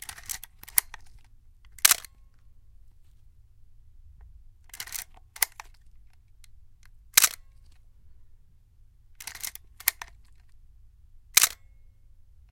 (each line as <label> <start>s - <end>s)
camera shutter 0.0s - 1.2s
camera shutter 1.8s - 2.2s
camera shutter 4.7s - 5.8s
camera shutter 7.2s - 7.8s
camera shutter 9.2s - 10.5s
camera shutter 11.4s - 11.7s